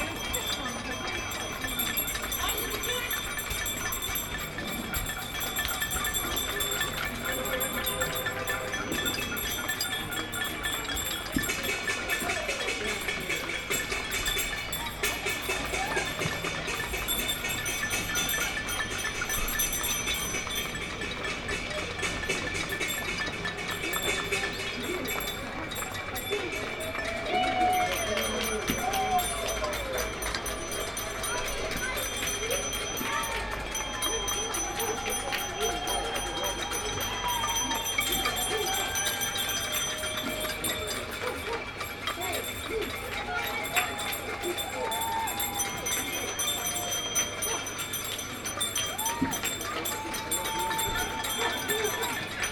Clapping 0:00.0 - 0:52.5

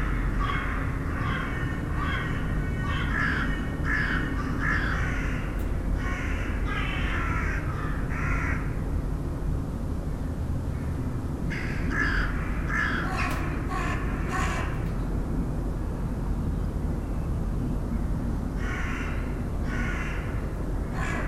far noises of the Shanks factory 0:00.0 - 0:21.2
crows discussing 0:11.5 - 0:14.8

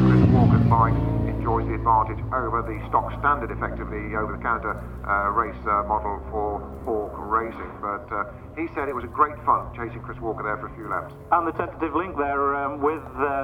commentary 0:00.0 - 0:13.4
superbikes 0:00.0 - 0:13.4

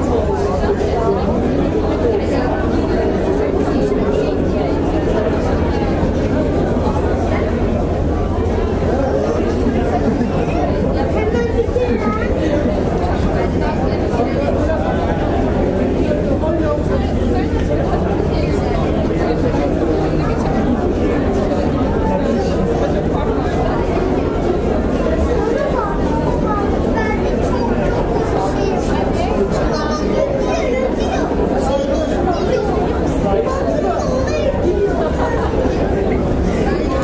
waiting crowd 0:00.0 - 0:37.0

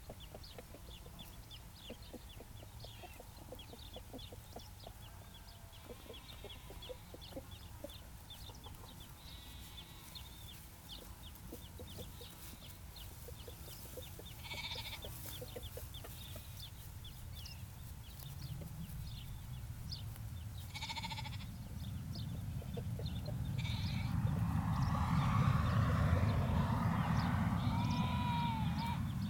chickens clucking 0:00.0 - 0:24.7
Lamb and sheep calling to each other 0:14.4 - 0:15.2
Lamb and sheep calling to each other 0:20.7 - 0:21.5
Lamb and sheep calling to each other 0:23.6 - 0:24.1
Lamb and sheep calling to each other 0:27.7 - 0:29.0

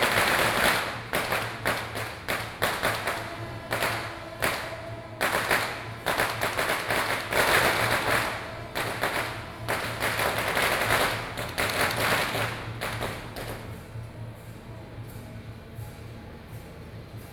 traditional performing groups 0:00.0 - 0:13.8
Firework 0:00.0 - 0:13.9

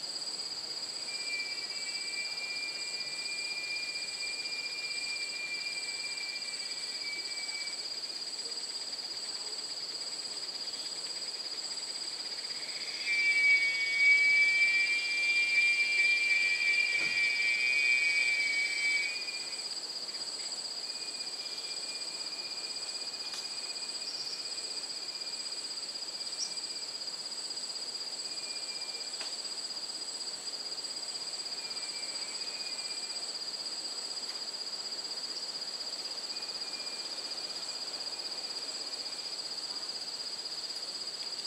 absurdly loud cicada type bug 0:00.0 - 0:41.4

